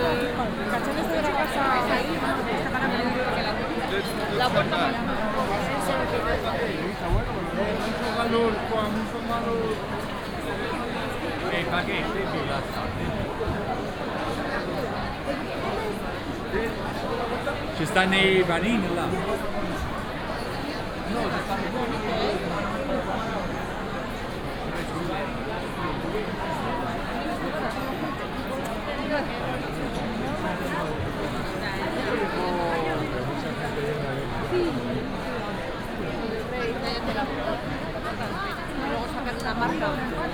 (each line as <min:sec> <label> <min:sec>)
0:00.0 walking around the San Miguel market 0:40.3